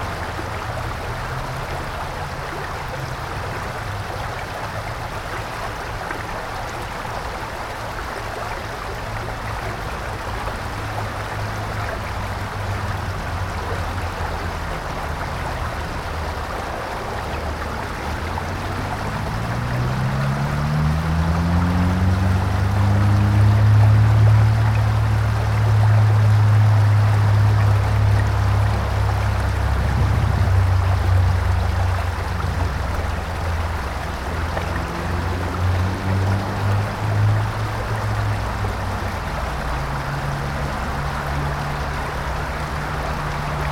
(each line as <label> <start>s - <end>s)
creek 0.0s - 43.7s
automobile traffic 8.8s - 43.7s